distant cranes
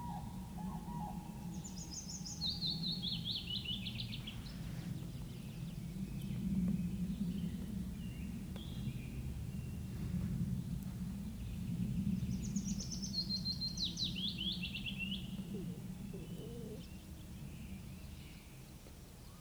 15.1s 16.9s

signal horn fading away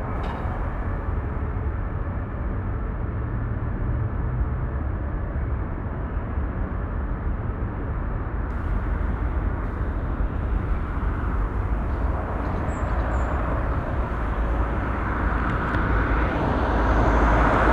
8.5s 16.7s

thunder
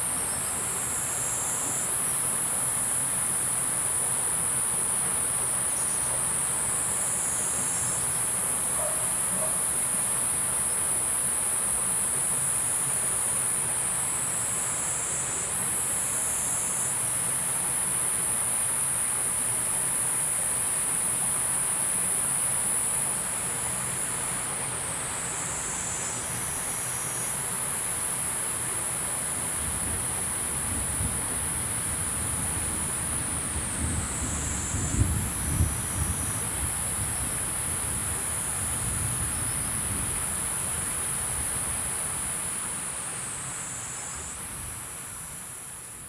30.7s 40.1s

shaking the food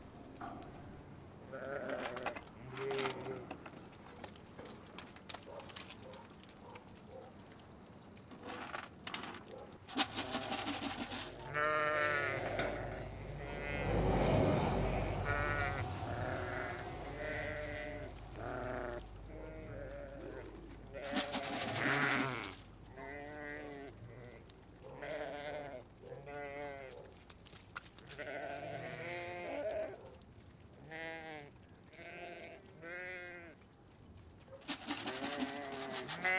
9.5s 11.6s, 20.2s 22.6s, 34.6s 36.3s

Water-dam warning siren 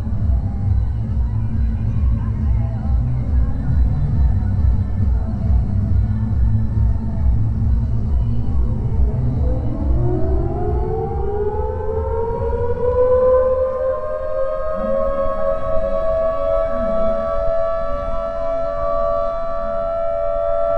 8.7s 20.7s

